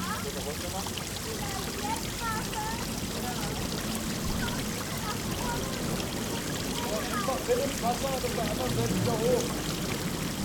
indian fountain 0.0 - 10.4
children 4.2 - 7.8

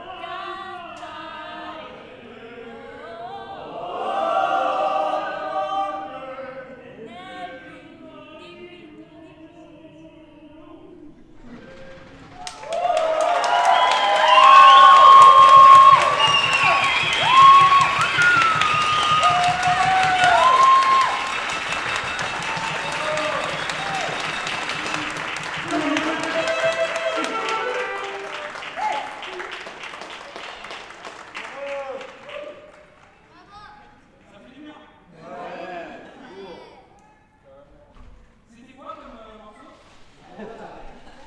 applause for the rescuers 12.2 - 33.5

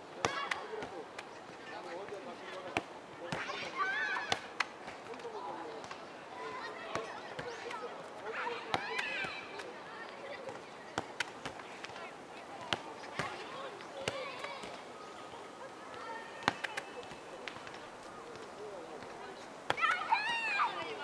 kids playing soccer 0.0 - 21.0

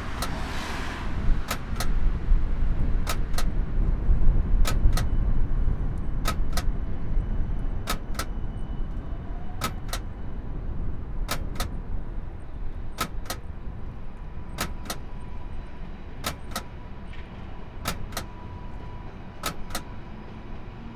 coin slot opening and closing continuously 0.0 - 0.4
coin slot opening and closing continuously 1.4 - 2.1
coin slot opening and closing continuously 2.8 - 3.7
coin slot opening and closing continuously 4.6 - 7.0
coin slot opening and closing continuously 7.6 - 18.4
coin slot opening and closing continuously 19.3 - 20.0

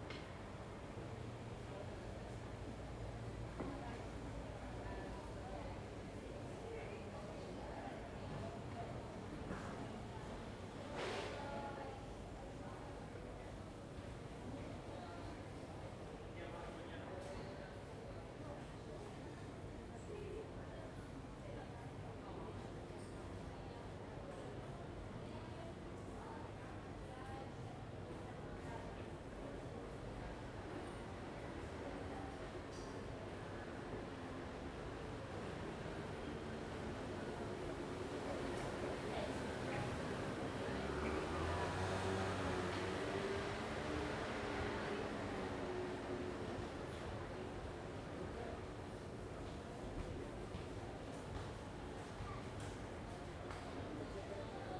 sounds from the street 0.0 - 54.7

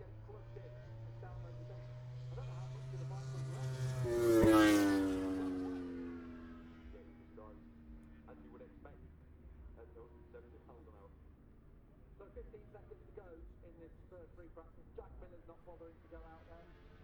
motorcycle grand prix 0.0 - 17.0

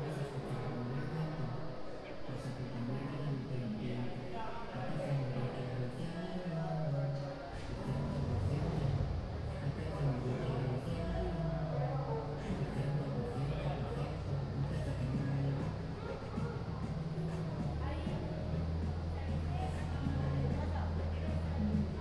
students college party 0.0 - 22.0

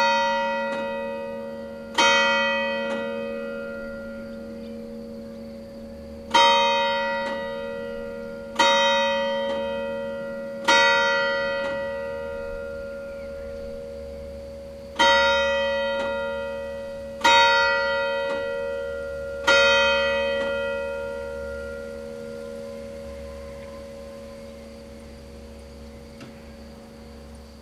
the bells 0.0 - 27.6

